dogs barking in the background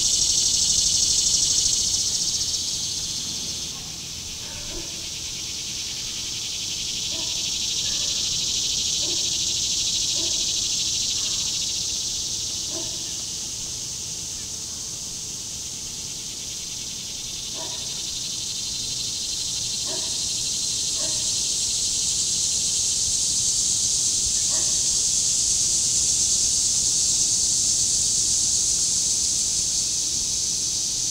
3.6 5.4, 7.0 9.5, 10.1 11.6, 12.6 13.3, 17.5 18.2, 19.7 21.4, 24.4 24.9

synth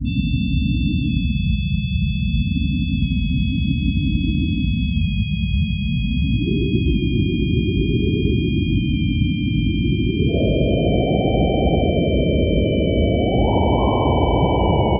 6.4 14.9

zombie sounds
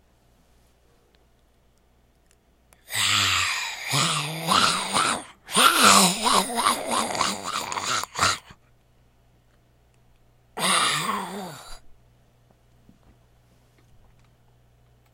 2.8 8.6, 10.6 11.8

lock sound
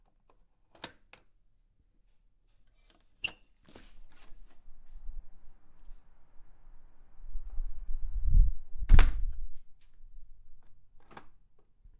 11.0 11.5

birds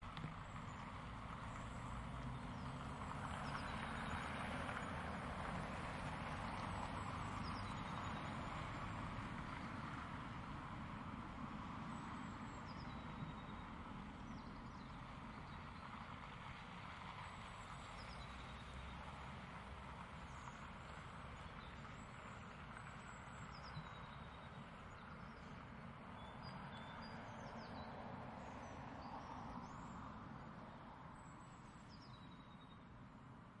6.3 10.0

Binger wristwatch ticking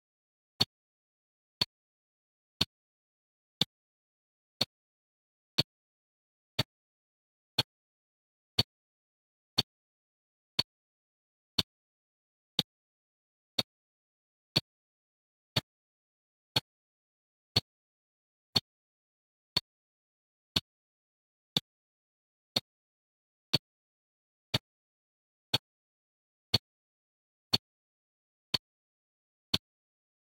3.6 3.8

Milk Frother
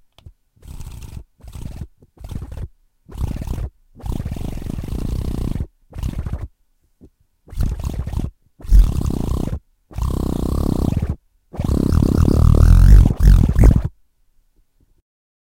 0.6 6.4, 7.5 13.9

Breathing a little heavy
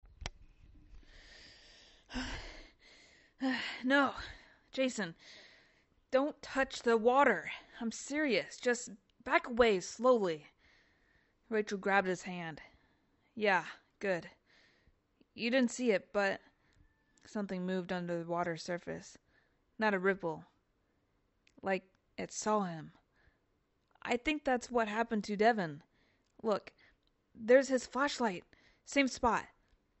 1.0 5.9

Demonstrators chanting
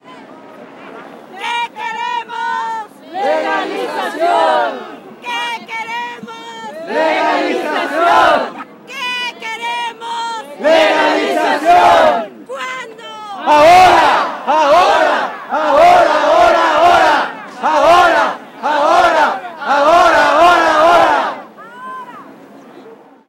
3.0 5.7, 6.7 8.6, 10.4 12.3, 13.4 21.5

